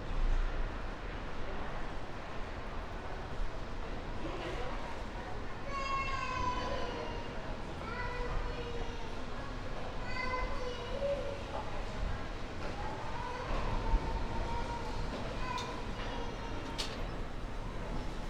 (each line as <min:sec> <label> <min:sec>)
0:10.6 main station walking 0:18.2
0:13.4 connecting train 0:18.2